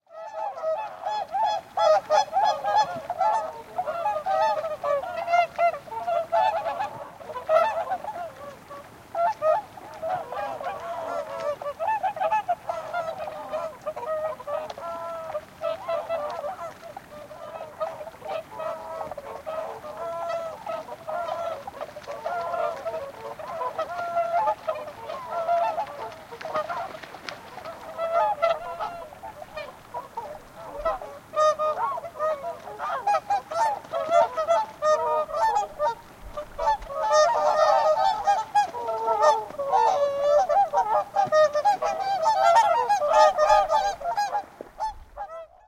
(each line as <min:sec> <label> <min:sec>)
0:00.1 Whooper Swans (Cygnus cygnus) calling 0:45.6
0:00.3 water splashing 0:45.5